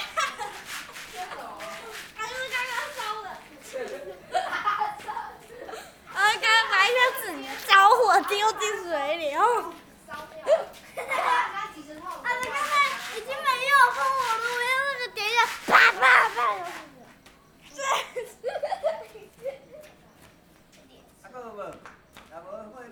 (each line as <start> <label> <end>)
0.0 Kids playing firecrackers 9.9
10.7 Kids playing firecrackers 17.3